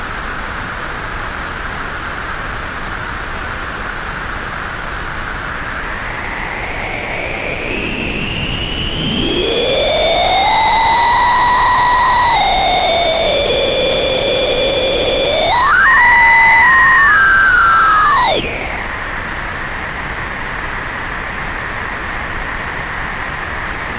synth 5.8 - 19.6

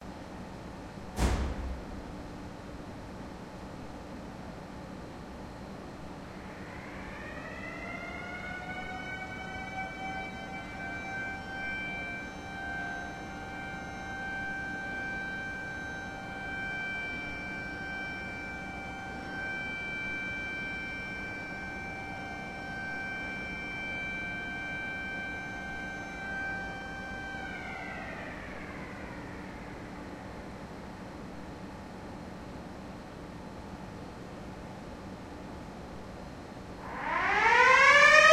door 1.2 - 2.1
two small mechanical sirens 6.0 - 32.0
two small mechanical sirens 36.8 - 38.3

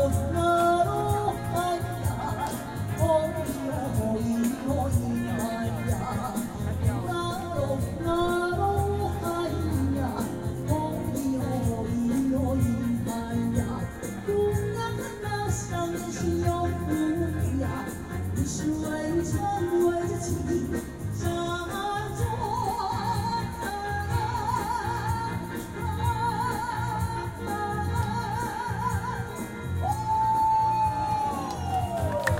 woman singing karaoke 0.0 - 32.3

